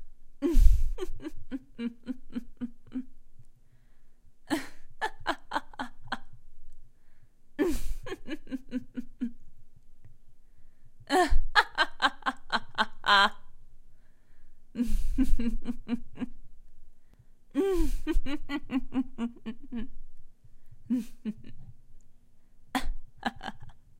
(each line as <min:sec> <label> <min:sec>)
0:00.4 Woman Evil Laughing 0:03.1
0:04.5 Woman Evil Laughing 0:06.4
0:07.6 Woman Evil Laughing 0:09.4
0:11.1 Woman Evil Laughing 0:13.5
0:14.8 Woman Evil Laughing 0:16.4
0:17.6 Woman Evil Laughing 0:20.0
0:20.9 Woman Evil Laughing 0:21.7
0:22.7 Woman Evil Laughing 0:23.8